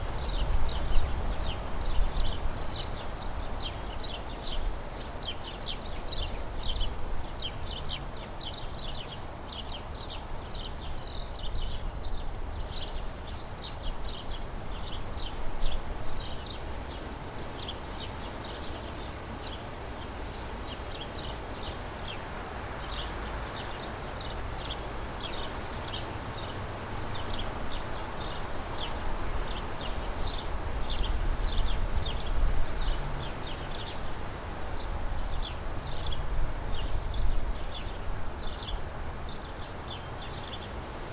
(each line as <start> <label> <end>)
0.0 Birds 41.1
0.0 Wind 41.1